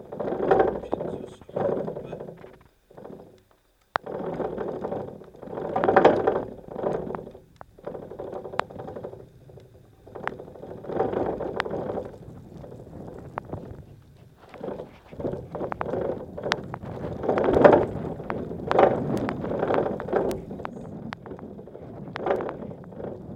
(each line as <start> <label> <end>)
0.0 piezo on a mast with wind 23.3